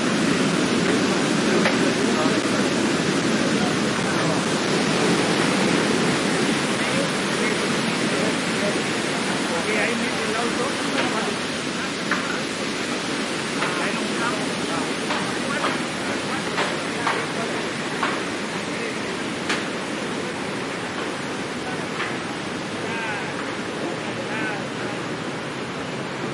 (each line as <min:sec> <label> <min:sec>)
0:00.0 waterfall 0:26.3
0:01.5 talk 0:04.6
0:06.7 talk 0:25.1